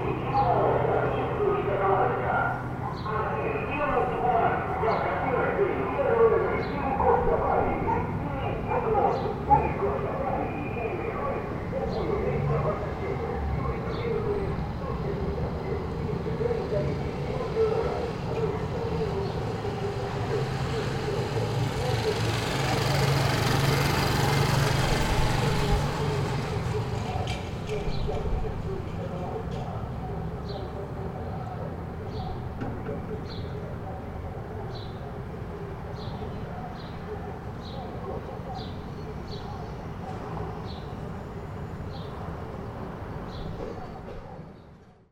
avion publicitario 0.0 - 45.1
moto 20.4 - 27.9

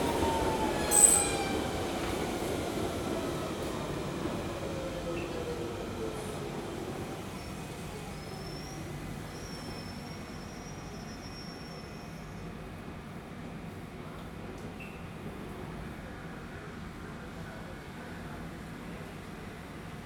Trains coming and going 0.0 - 8.2

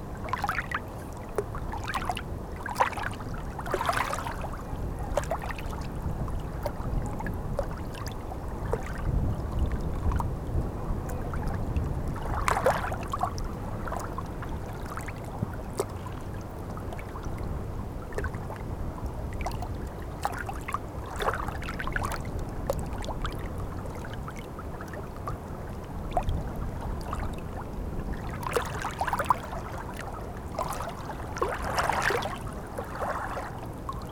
Water is flowing in the wrong way 0.0 - 34.1

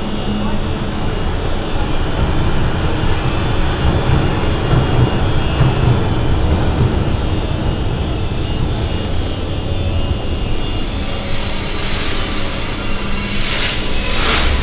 trains arriving and leaving again 0.0 - 14.6

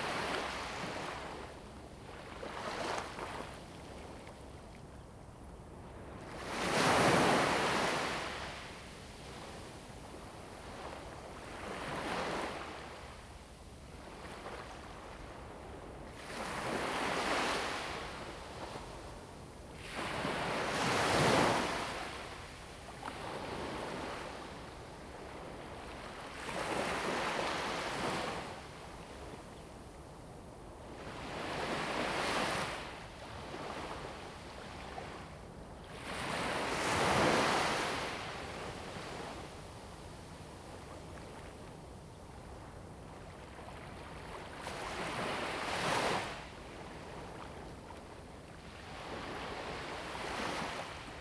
waves 16.1 - 29.6
waves 35.9 - 51.2

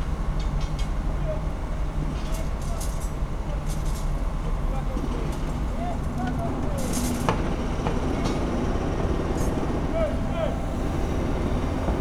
40 workers 0.0 - 12.0
Huge construction works 0.0 - 12.0
cranes 5.6 - 12.0

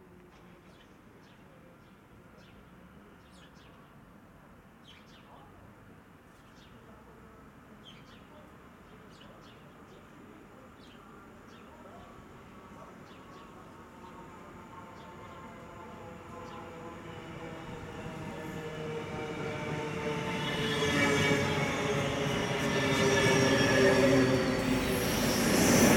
Trains passing by 9.7 - 25.9

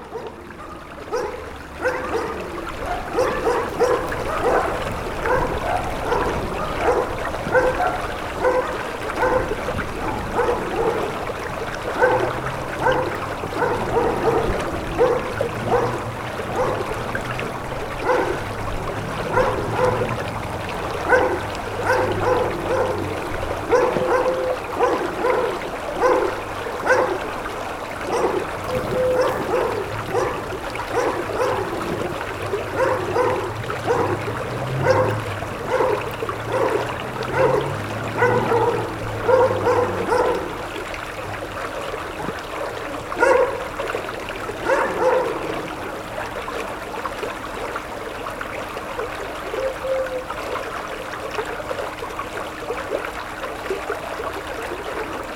river 0.0 - 55.3
dog barking 0.1 - 11.1
dog barking 12.0 - 16.9
dog barking 18.0 - 18.4
dog barking 19.3 - 20.2
dog barking 21.0 - 27.3
dog barking 28.0 - 32.0
dog barking 32.7 - 40.6
dog barking 43.2 - 43.6
dog barking 44.6 - 45.5

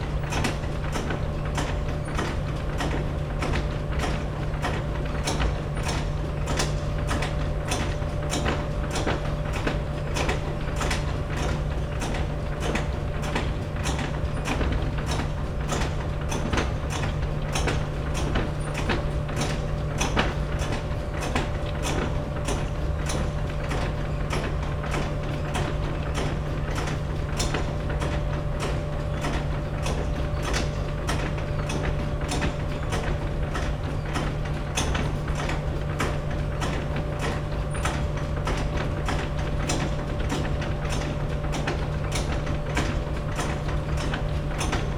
conveyer belt 0.0 - 44.9

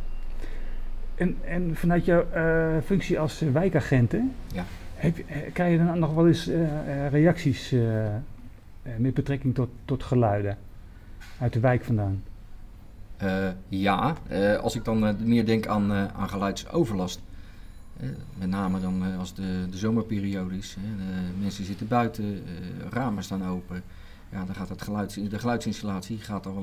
Wijkagent Arthur vertelt 0.4 - 12.4
Wijkagent Arthur vertelt 13.2 - 17.3
Wijkagent Arthur vertelt 18.0 - 26.6

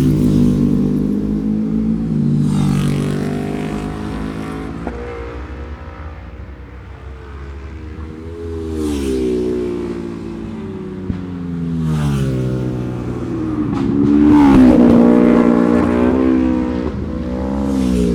Road Races 0.0 - 18.1

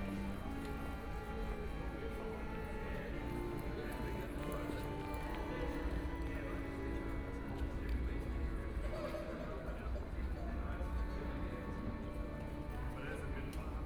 Street music 0.0 - 9.2
Pedestrians and tourists 0.0 - 13.8

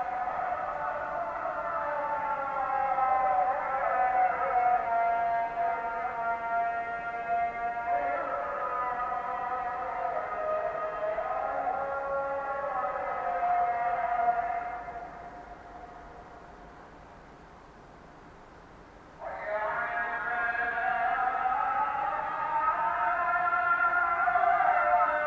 morning prayer 0.0 - 25.2

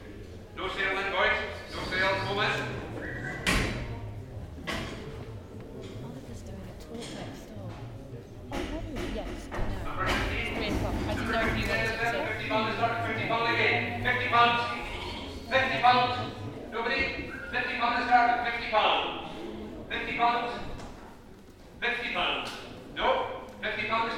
Ram Auction 14.6 - 15.5

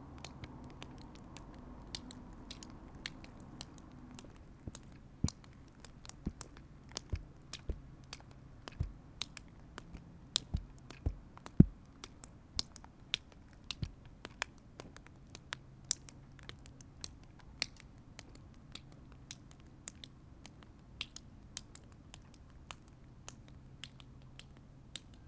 rainwater dripping from the roof 0.0 - 25.2

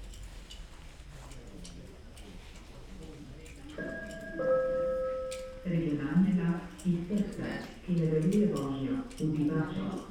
Train stop and departure 3.8 - 5.8

